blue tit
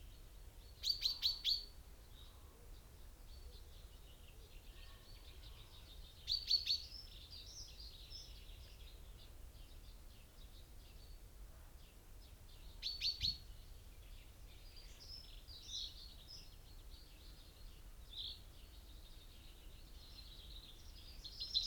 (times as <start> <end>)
0.8 2.4, 4.7 9.3, 12.6 13.6